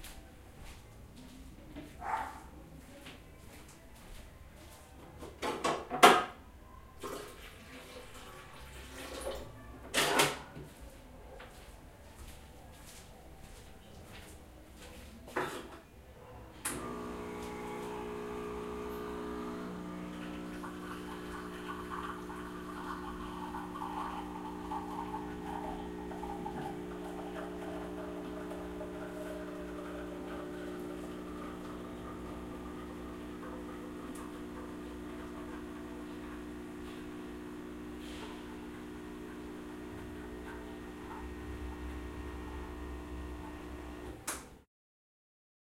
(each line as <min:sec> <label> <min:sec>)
0:00.0 máquina de café 0:44.3
0:16.6 cofeemachine 0:44.5